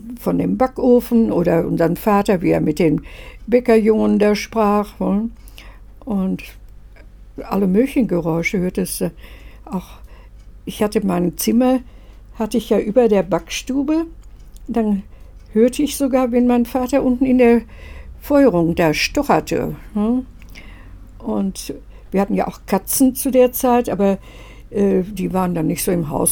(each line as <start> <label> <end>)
0.0 she tells us 20.4
21.1 she tells us 26.3